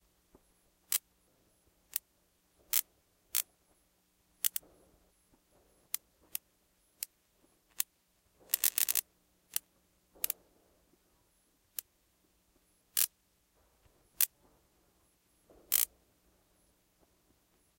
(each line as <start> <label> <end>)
8.5 Bug Zapper Many medium zaps 10.4
15.6 Bug Zapper Many medium zaps 15.9